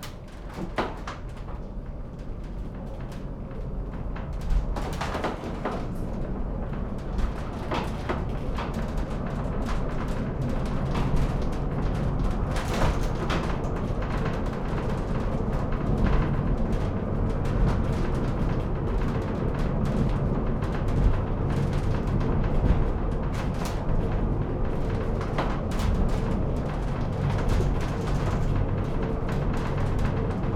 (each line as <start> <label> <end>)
0.0 cable car driving down-hill 30.5